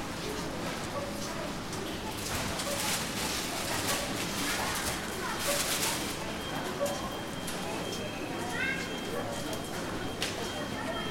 Walking though the aisles of a supermarket 0:00.0 - 0:11.1
people 0:00.2 - 0:11.1

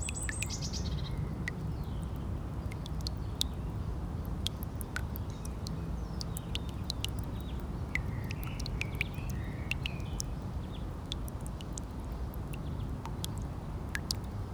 quietly dripping tap 0:00.0 - 0:14.5

